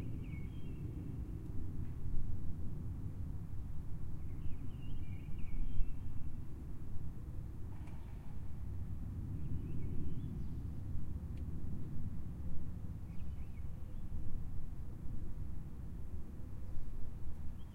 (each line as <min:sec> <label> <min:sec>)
0:00.0 Bird song 0:01.2
0:04.2 Bird song 0:06.4
0:09.3 Bird song 0:10.8
0:13.0 Bird song 0:14.2
0:17.4 Bird song 0:17.7